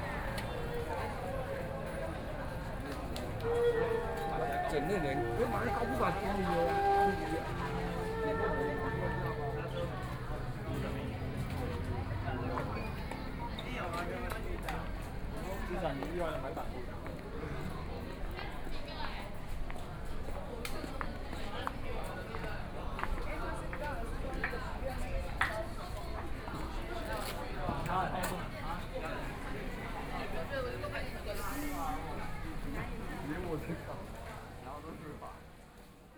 0.0s Traffic Sound 16.1s
0.0s walking on the Road 36.0s
0.0s Various shops voices 36.1s

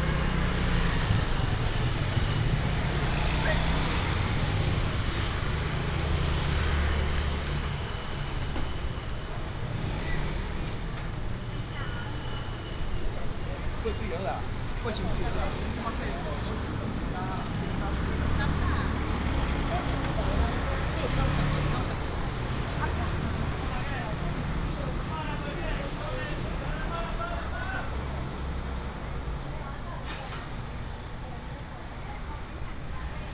0.0s Traffic sound 33.3s
0.0s Walking in the traditional market 33.3s

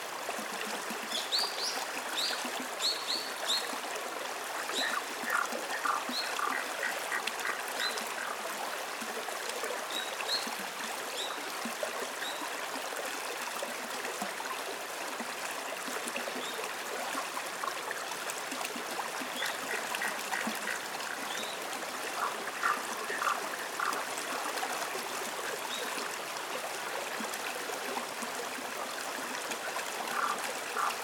0.0s river 31.0s
4.8s chorus of frogs 8.4s
19.5s chorus of frogs 24.5s
30.1s chorus of frogs 31.0s

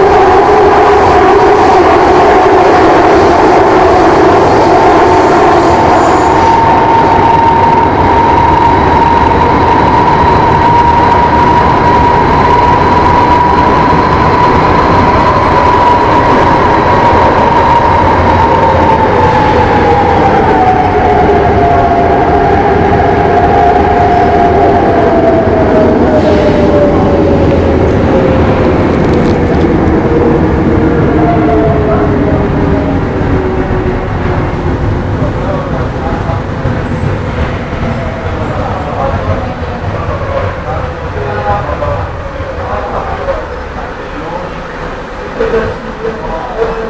0.0s Subway 46.8s

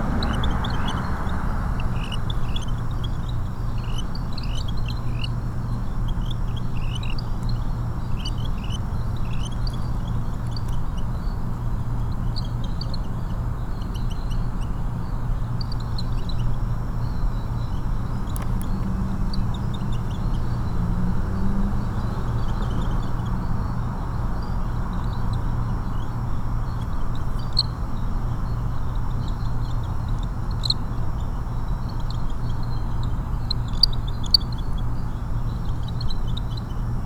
0.0s Cockroach chorus 37.0s
0.0s traffic 37.0s

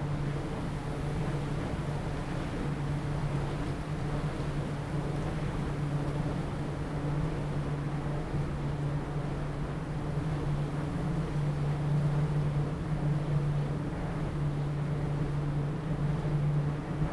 7.2s wind 17.1s

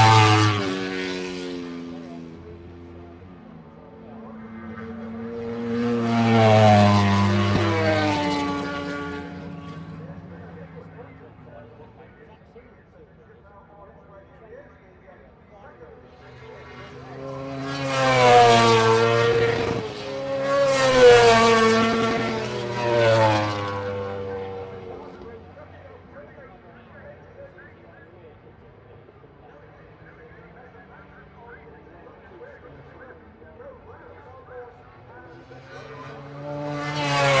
0.0s motorcycle grand prix 37.4s

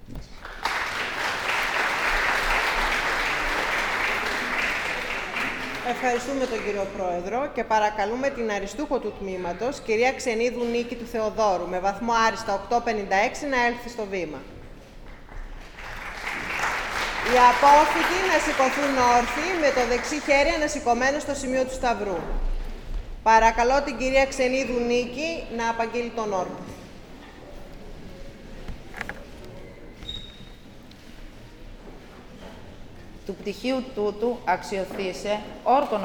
16.0s Philological oath 31.8s

